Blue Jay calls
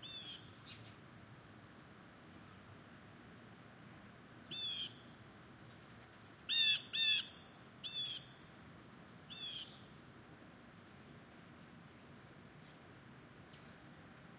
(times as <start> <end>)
0.0 0.5, 4.5 5.0, 6.5 8.3, 9.3 9.8